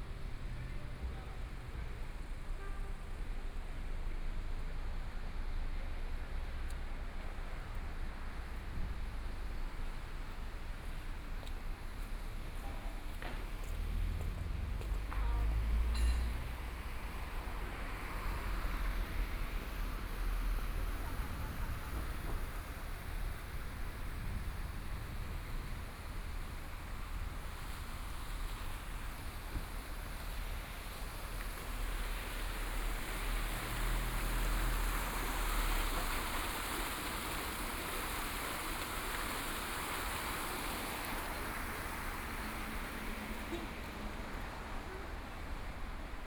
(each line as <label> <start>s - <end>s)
Traffic Sound 0.0s - 46.2s